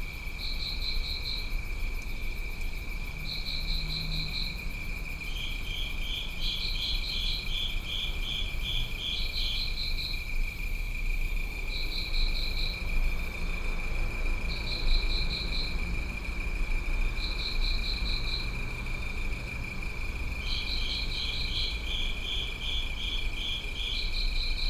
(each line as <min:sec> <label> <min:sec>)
0:00.0 crickets within a covered drain 0:24.6